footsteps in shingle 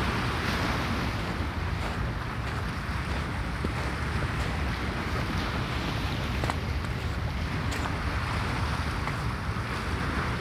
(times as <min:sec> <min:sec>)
0:01.1 0:04.7, 0:06.2 0:10.4